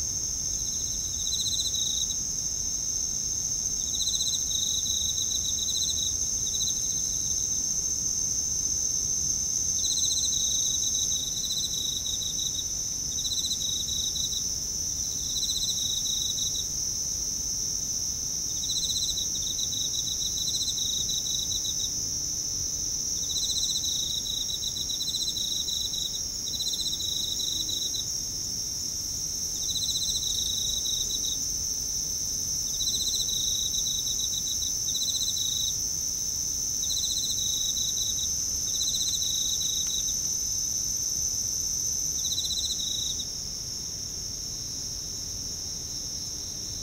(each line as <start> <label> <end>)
0.0 cicadas 46.8
0.0 crickets 46.8